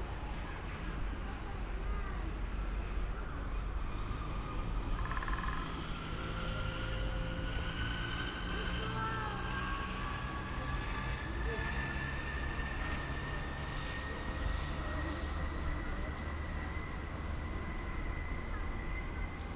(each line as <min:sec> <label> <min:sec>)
0:00.0 wind 0:19.5